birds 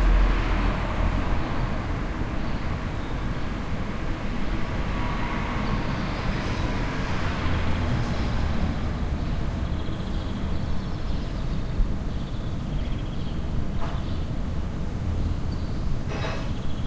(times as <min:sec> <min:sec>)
0:09.1 0:16.8